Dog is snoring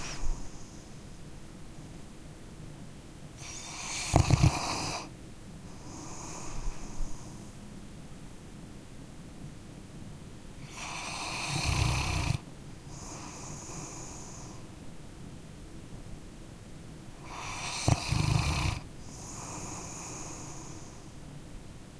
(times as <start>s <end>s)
3.4s 5.1s, 10.6s 14.6s, 17.2s 21.0s